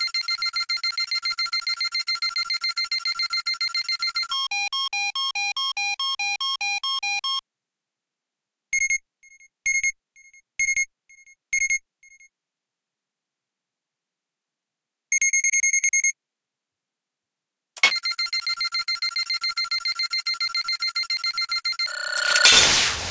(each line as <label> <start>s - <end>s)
beep 17.8s - 22.9s
First Scan 17.8s - 23.1s
it explodes 22.5s - 23.1s